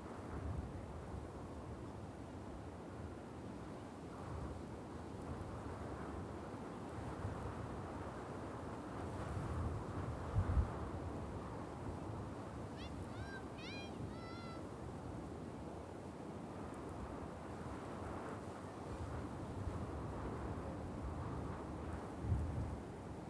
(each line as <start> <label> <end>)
0.0 winds 23.2
12.4 children playing in the dunes 14.8